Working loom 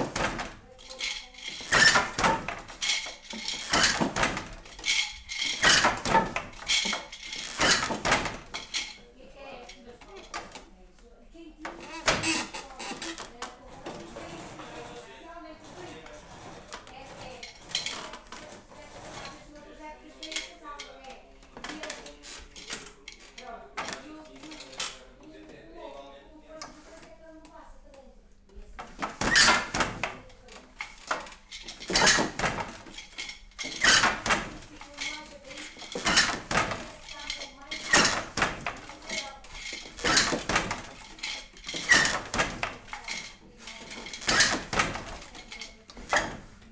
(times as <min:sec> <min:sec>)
0:00.0 0:09.1, 0:11.6 0:20.9, 0:28.8 0:46.7